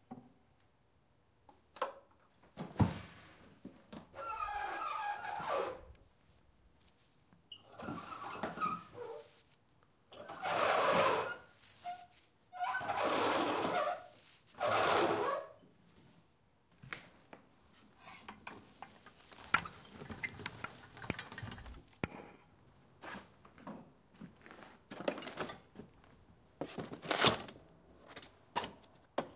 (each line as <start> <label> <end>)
12.6 loud, squeaky pulley 15.4
19.4 thumps and squeaks 21.8
23.0 footsteps going up and down a wooden staircase 27.0